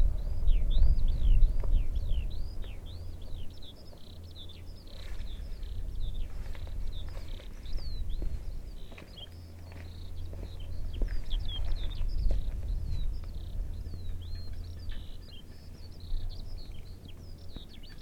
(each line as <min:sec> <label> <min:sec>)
0:00.0 Birds 0:18.0